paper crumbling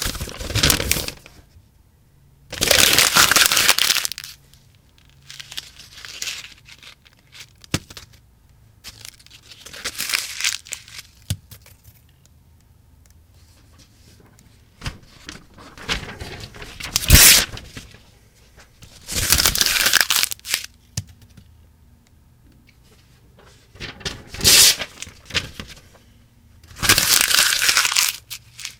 0.0 1.4, 2.6 4.4, 5.0 8.2, 8.8 12.2, 13.4 20.7, 23.4 26.1, 26.7 28.7

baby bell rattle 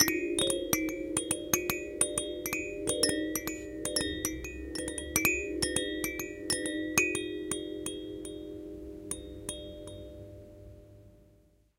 0.0 7.3

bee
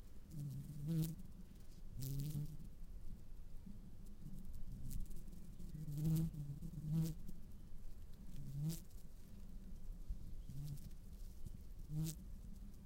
0.3 1.3, 2.0 2.7, 4.4 7.3, 11.9 12.2

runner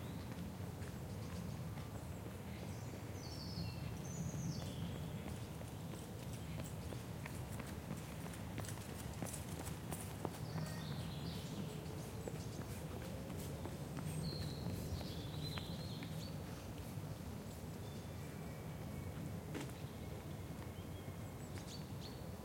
0.2 17.6

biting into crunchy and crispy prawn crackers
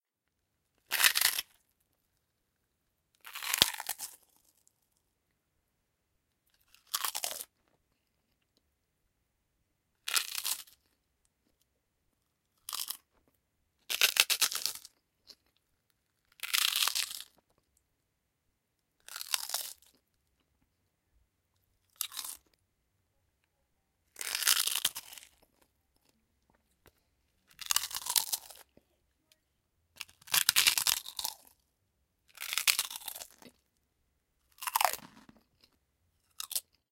0.9 1.6, 3.2 4.6, 6.5 7.5, 10.1 10.9, 12.6 13.1, 13.9 15.6, 16.2 17.6, 19.0 20.0, 21.8 22.6, 24.2 26.1, 27.5 28.8, 30.0 31.6, 32.3 33.7, 34.5 36.8

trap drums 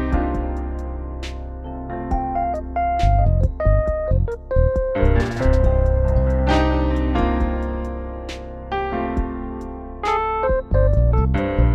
2.1 8.4

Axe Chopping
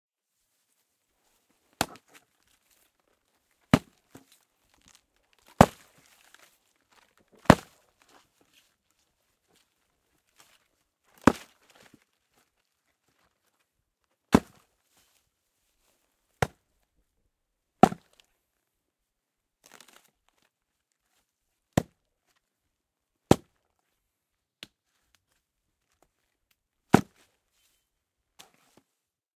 1.8 2.2, 3.7 4.3, 5.6 5.9, 7.4 7.8, 11.2 11.5, 14.3 14.6, 17.8 18.1, 27.0 27.2

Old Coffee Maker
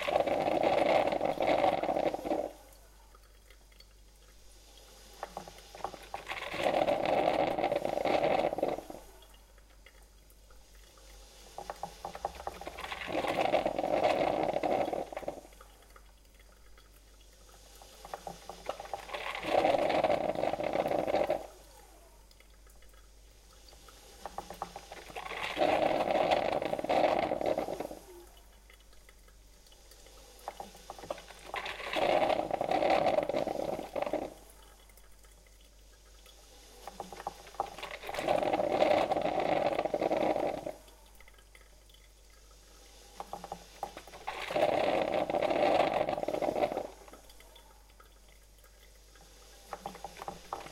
0.0 3.0, 5.1 9.2, 11.6 15.7, 17.4 22.3, 23.8 28.5, 30.4 35.3, 36.7 41.3, 43.1 47.9, 49.2 50.7

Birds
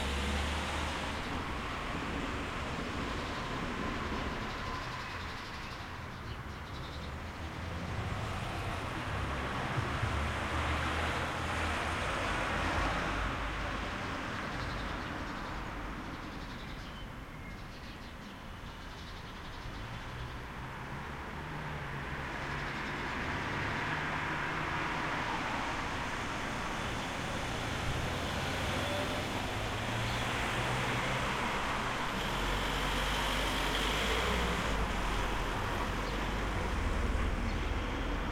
14.0 25.4

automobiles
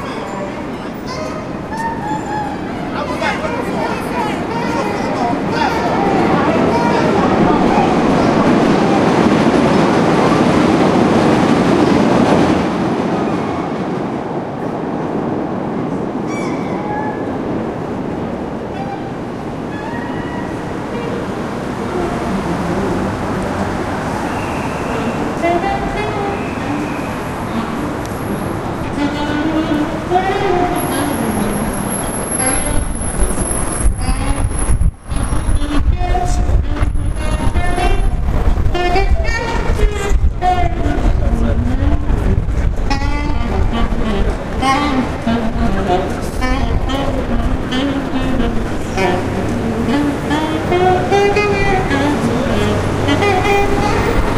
17.2 54.3

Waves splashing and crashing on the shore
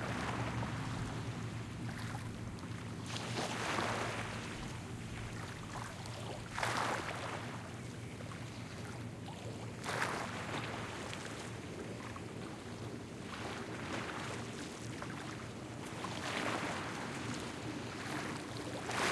0.0 5.9, 6.5 7.6, 13.3 19.1

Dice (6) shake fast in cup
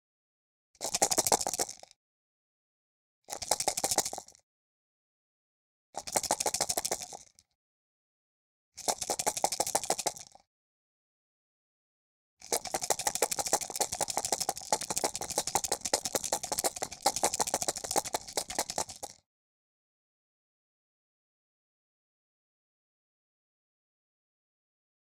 0.8 1.9, 3.3 4.4, 6.0 7.4, 8.8 10.4, 12.4 19.2

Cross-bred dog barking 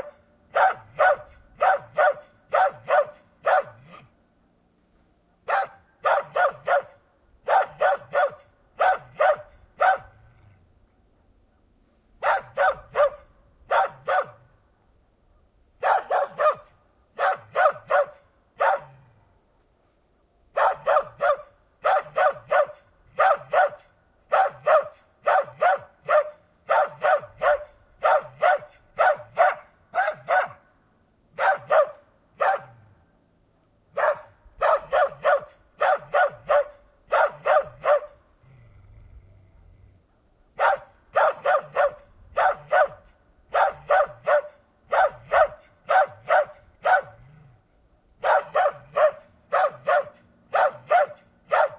0.0 4.2, 5.4 10.5, 12.2 14.5, 15.8 19.1, 20.5 30.7, 31.3 32.9, 33.9 38.2, 40.6 47.5, 48.2 51.7

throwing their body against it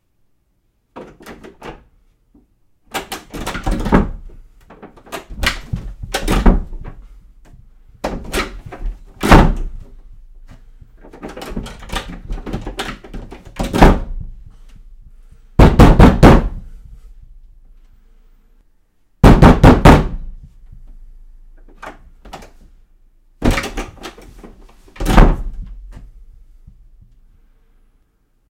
3.0 17.1, 23.4 27.1

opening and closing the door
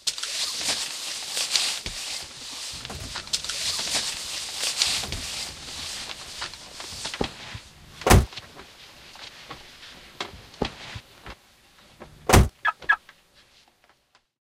2.4 8.6, 12.0 13.0

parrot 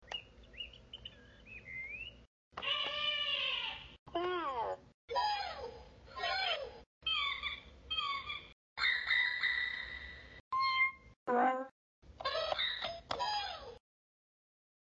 6.2 13.6

